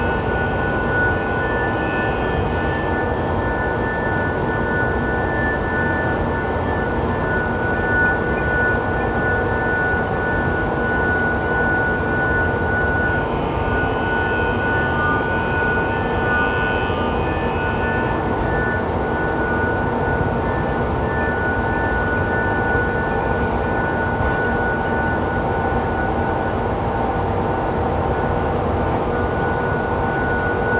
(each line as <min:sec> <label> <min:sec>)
0:00.0 Harmonic tones from massive coal conveyer belts 0:30.7